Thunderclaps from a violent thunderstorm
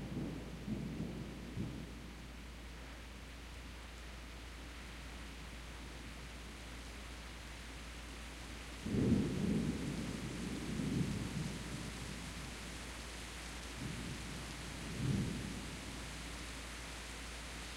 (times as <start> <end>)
0.0 2.1, 8.8 12.7, 13.8 16.1